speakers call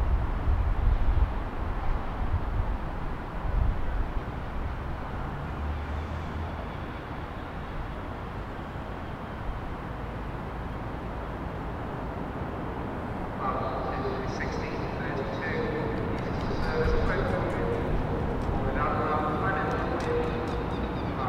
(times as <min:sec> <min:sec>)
0:13.4 0:21.2